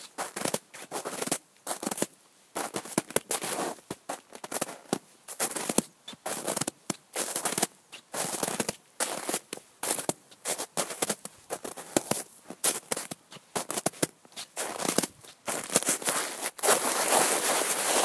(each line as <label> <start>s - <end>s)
footsteps in snow 0.1s - 18.0s
snow sounds 14.4s - 18.0s